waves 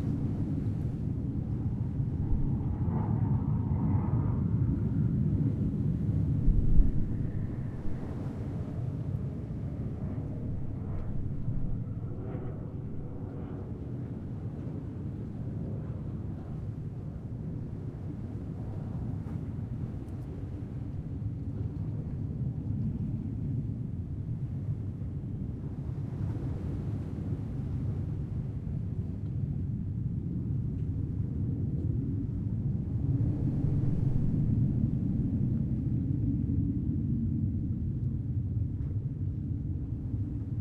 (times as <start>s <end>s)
5.4s 12.0s, 14.2s 30.2s, 33.0s 36.1s